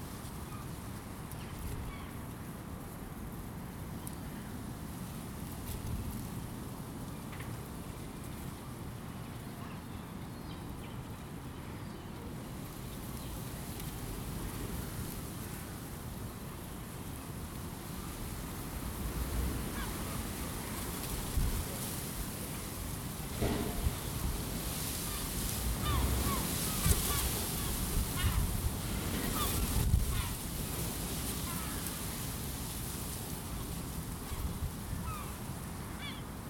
Bushes 0:16.8 - 0:36.4

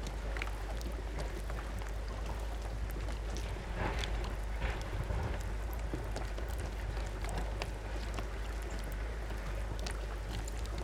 beach structure balacing on water 0:00.0 - 0:10.8
waves 0:00.0 - 0:10.8

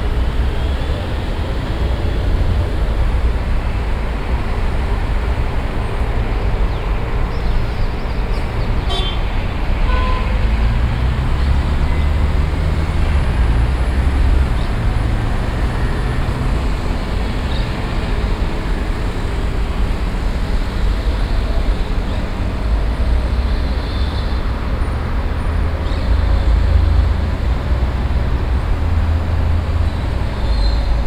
city sounds 0:00.0 - 0:31.0

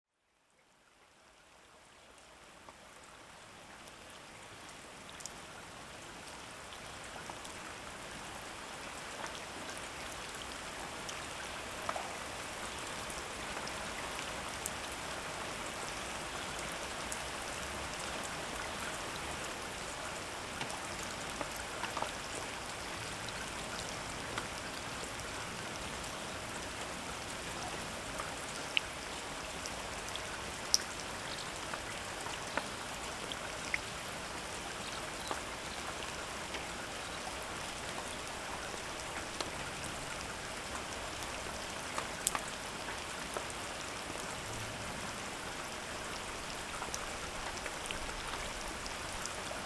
rain is persistently falling 0:00.2 - 0:49.6

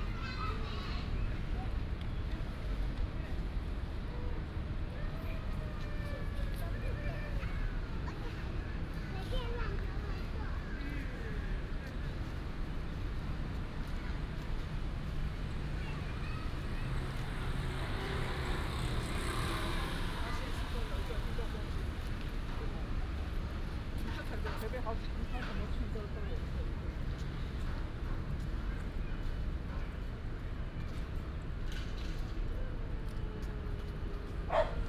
traffic sound 0:00.0 - 0:34.8

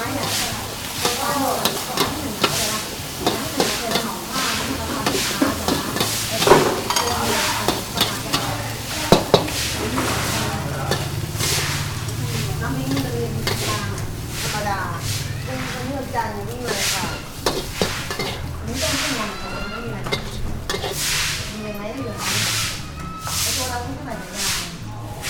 Cooking Khao Pat 0:00.0 - 0:25.2

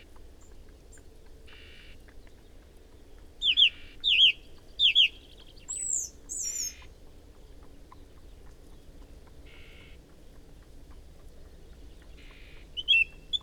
horse and rider approaching 0:00.0 - 0:13.4
Song thrush singing 0:00.4 - 0:07.0
song and calls from whitethroat 0:03.4 - 0:06.9
wren 0:03.4 - 0:06.9
song and calls from whitethroat 0:09.5 - 0:10.0
Song thrush singing 0:11.3 - 0:13.4
song and calls from whitethroat 0:12.0 - 0:13.4

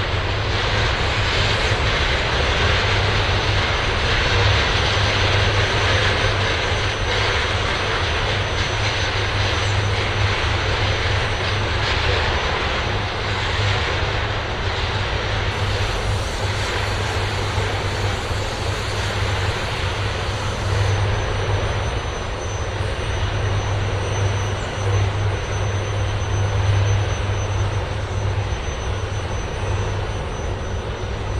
Ignition of a 65 MW electric arc furnace melting scrap into steel 0:15.5 - 0:21.2

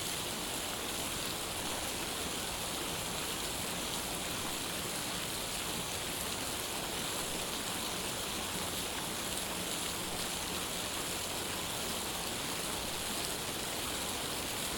Water Fountain 0:00.0 - 0:14.7

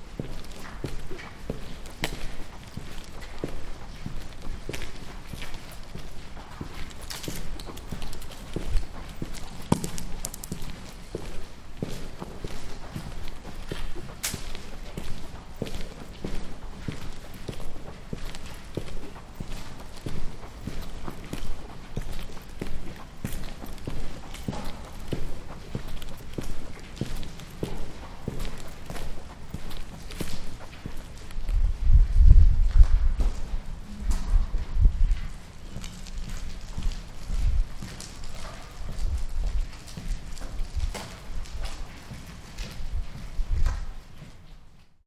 walk inside the tunel 0:00.0 - 0:45.0

